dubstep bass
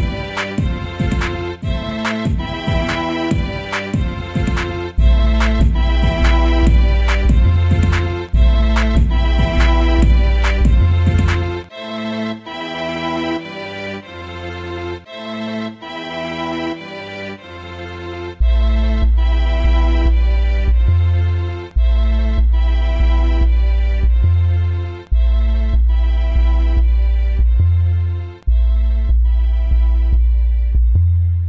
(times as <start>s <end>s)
4.3s 11.7s